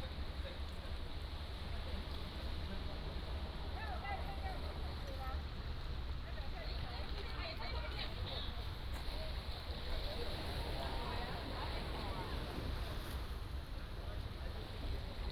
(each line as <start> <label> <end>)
0.0 waves 15.3